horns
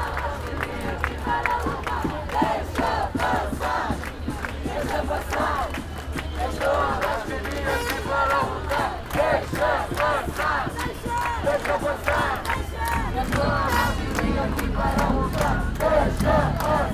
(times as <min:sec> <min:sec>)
0:05.4 0:16.9